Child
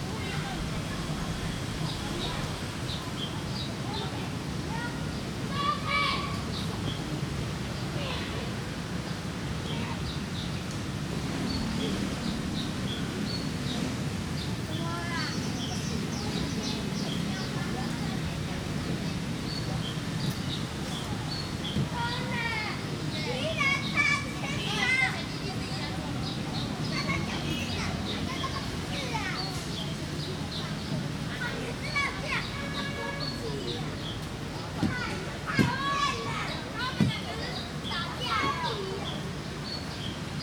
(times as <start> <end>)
3.8 6.5, 20.9 39.4